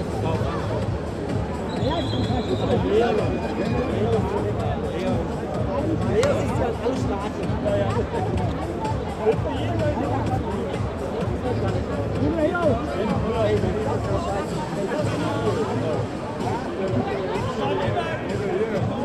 stadium commentator 0:00.0 - 0:19.0
footbal fans 0:04.6 - 0:13.4

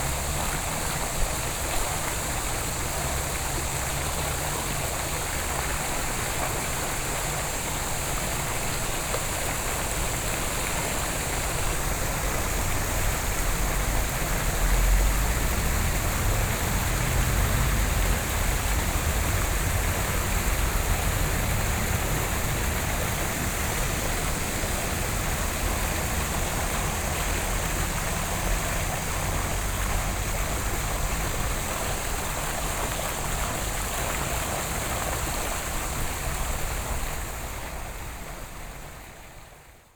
Traffic Sound 0:00.0 - 0:39.0
water 0:00.0 - 0:39.9

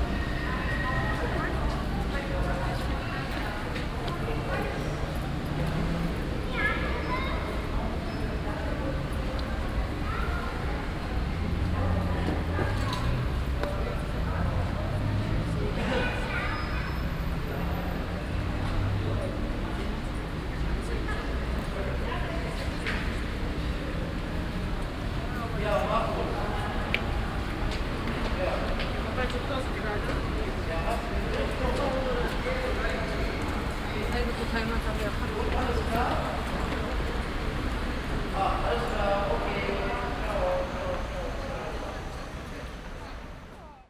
people 0:00.0 - 0:43.8

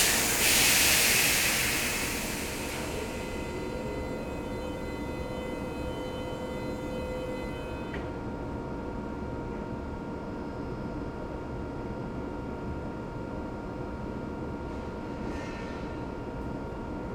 two trains pass 0:00.0 - 0:06.9

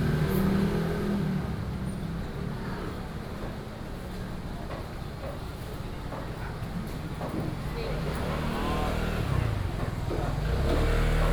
Walking through the traditional market 0:00.0 - 0:11.3
Traffic Sound 0:07.7 - 0:11.3

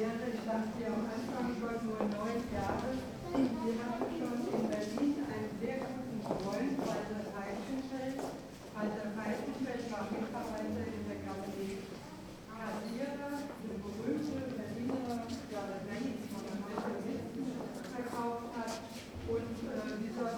walk 0:02.0 - 0:08.8
walk 0:12.8 - 0:20.0

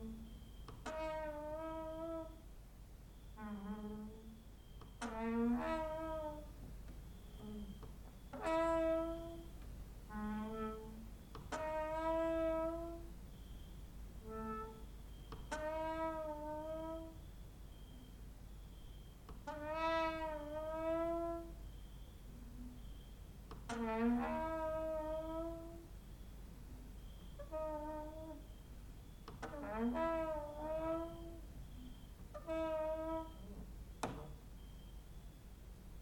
cricket outside 0:00.0 - 0:35.7
creaking with wooden doors 0:00.0 - 0:02.5
creaking with wooden doors 0:03.2 - 0:13.1
creaking with wooden doors 0:14.2 - 0:17.3
creaking with wooden doors 0:18.7 - 0:21.6
creaking with wooden doors 0:23.4 - 0:26.0
creaking with wooden doors 0:27.0 - 0:34.4

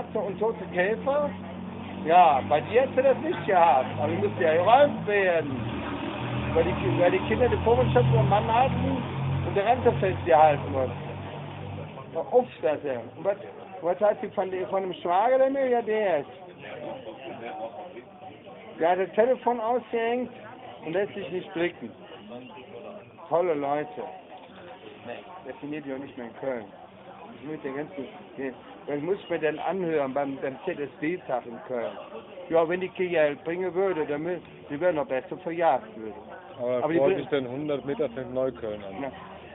conspiracy theory of a homeless 0:00.0 - 0:39.5

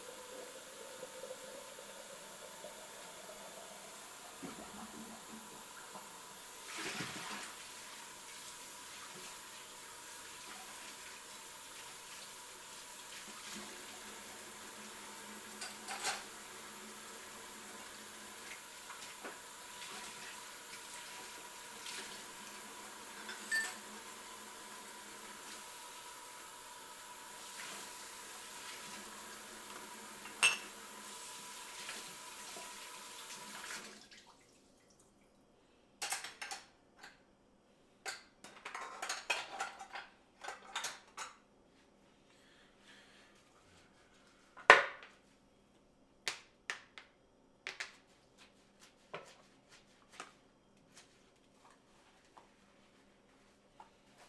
Dish washing 0:00.0 - 0:34.6
sink sound 0:00.0 - 0:35.2
silverware being handled and scrubbed 0:15.6 - 0:16.3
Dish washing 0:38.1 - 0:41.4
footsteps 0:47.7 - 0:54.2

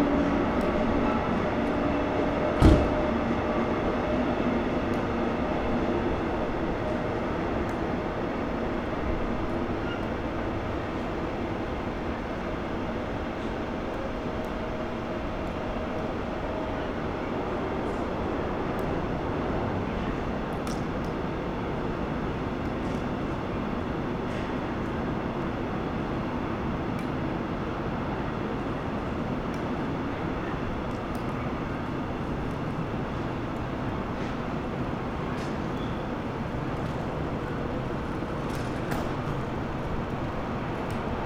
trains 0:00.0 - 0:41.2
people leaving the building 0:28.2 - 0:41.2

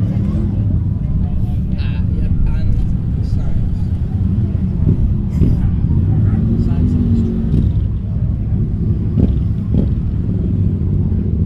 motorbike meet 0:00.0 - 0:11.4

